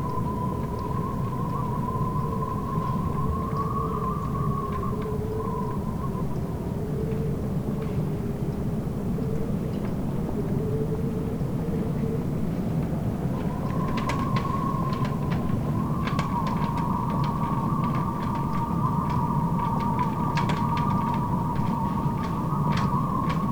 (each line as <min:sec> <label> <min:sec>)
0:00.0 wind blows through sailboat masts and riggings 0:23.5